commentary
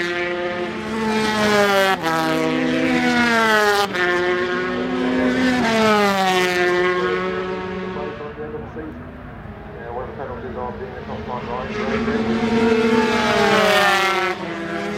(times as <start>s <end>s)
7.8s 14.5s